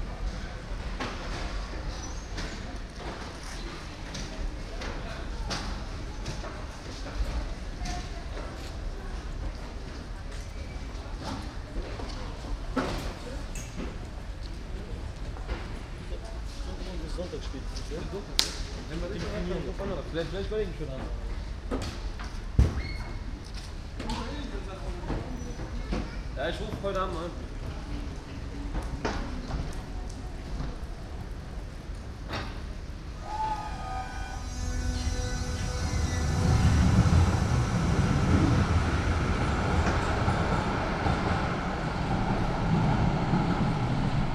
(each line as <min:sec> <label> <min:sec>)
0:21.0 people exit and enter 0:44.3
0:29.5 Trains driving in 0:44.3